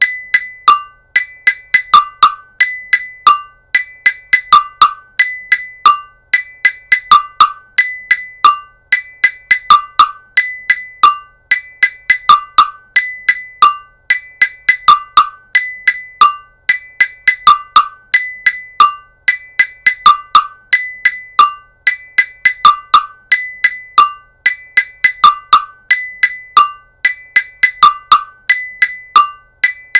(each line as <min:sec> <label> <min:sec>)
0:00.0 agogo bell rhythm 0:29.9